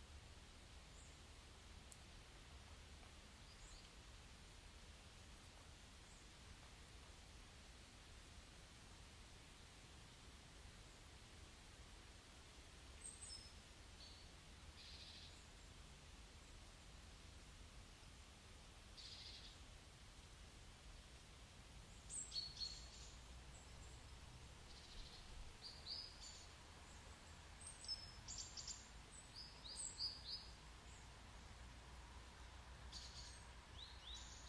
birds singing 0:21.9 - 0:24.1
birds singing 0:24.7 - 0:31.1
birds singing 0:32.9 - 0:34.4

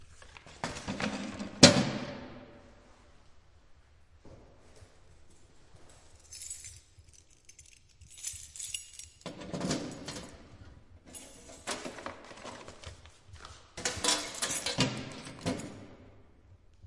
keys 0:05.8 - 0:16.2
opening the box with a key 0:08.7 - 0:12.9
opening the box with a key 0:13.8 - 0:15.9

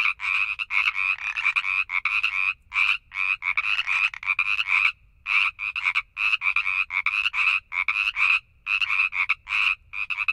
frogs 0:00.0 - 0:10.3

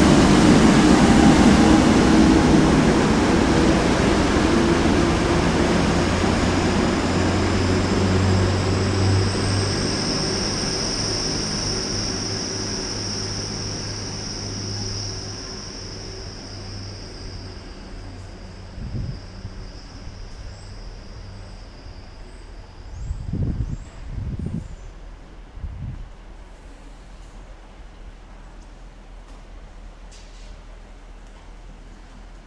passing HST 0:00.0 - 0:21.3

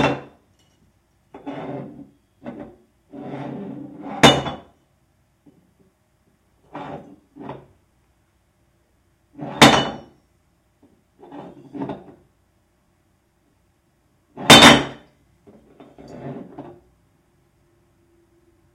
Beer Bottle Falling Down - Over 0:09.6 - 0:10.1

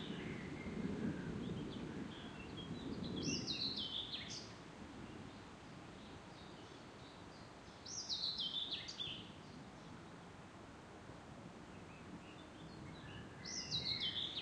soft rumble of drawing on thunder 0:00.0 - 0:05.9
birds 0:00.0 - 0:10.4
noise of wind 0:00.0 - 0:14.4
birds 0:11.6 - 0:14.4

